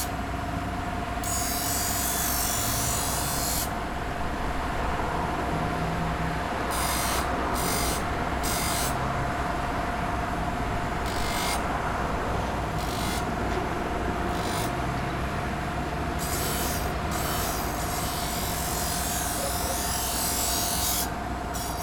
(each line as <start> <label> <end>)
1.2 man sharpening restaurant knives on an electric grinder 3.8
6.7 man sharpening restaurant knives on an electric grinder 9.1
11.0 man sharpening restaurant knives on an electric grinder 11.7
12.7 man sharpening restaurant knives on an electric grinder 13.4
14.3 man sharpening restaurant knives on an electric grinder 14.9
16.1 man sharpening restaurant knives on an electric grinder 21.8